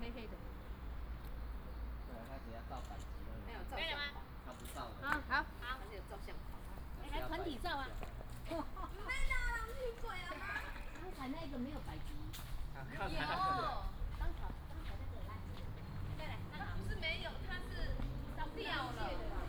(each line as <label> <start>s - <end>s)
Tourists 0.0s - 19.4s
Traffic sound 0.0s - 19.4s